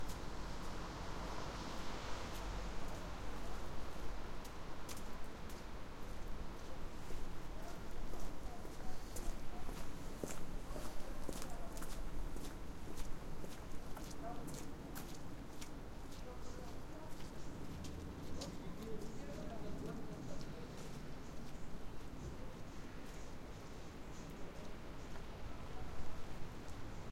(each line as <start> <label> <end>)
0.0 city noise 27.1
0.0 Footsteps on a wet sidewalk 27.1
0.1 car is passing 4.3